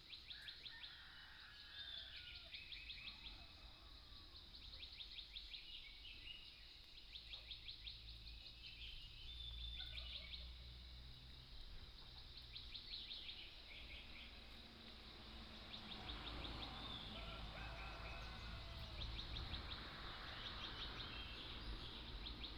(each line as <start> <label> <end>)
0.0 Birdsong 22.5
9.8 Dogs barking 10.5